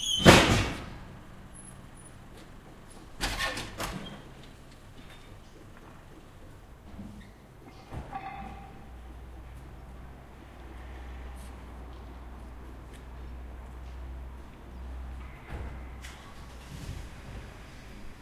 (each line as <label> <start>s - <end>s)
walking people 1.4s - 3.2s
walking people 4.3s - 18.2s
doors 6.8s - 9.0s